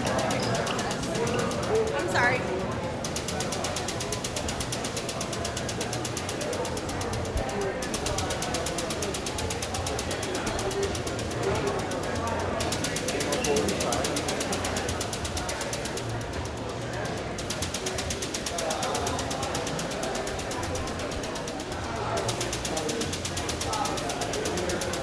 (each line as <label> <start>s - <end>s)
voices 0.0s - 25.0s